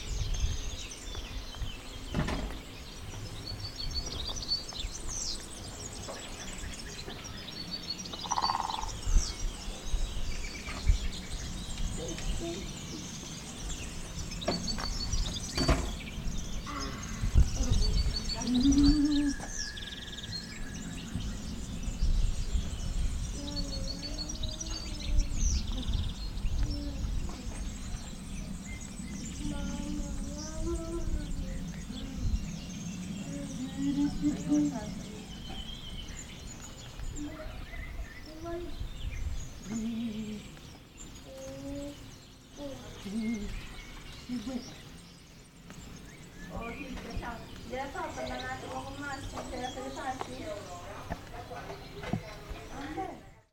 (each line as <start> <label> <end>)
0.0 Family 53.5
1.8 woodpeckers 9.0
10.4 woodpeckers 22.6